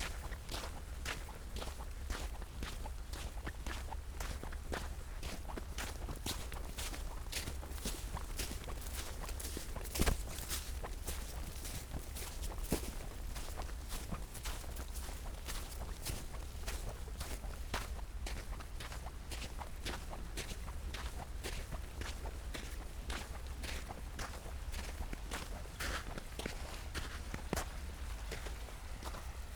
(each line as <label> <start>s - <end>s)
walking along river 0.0s - 29.5s